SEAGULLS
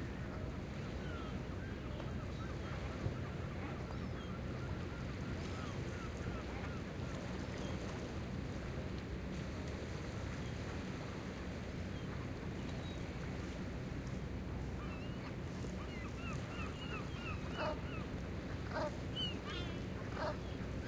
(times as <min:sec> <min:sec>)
0:00.1 0:07.9, 0:14.6 0:20.8